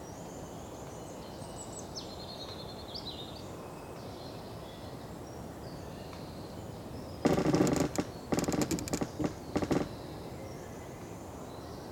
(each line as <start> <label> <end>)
7.2 half fallen tree loaning on other tree 10.3